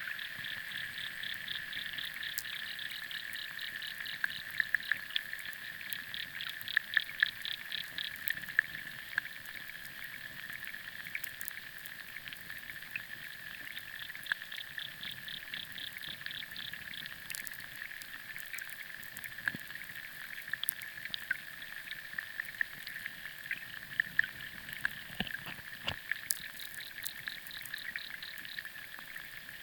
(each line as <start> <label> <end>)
0.2 underwater sounds 29.6